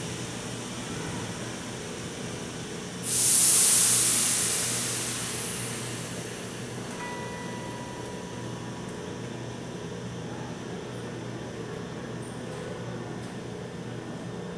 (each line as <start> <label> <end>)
0.0 metro 14.5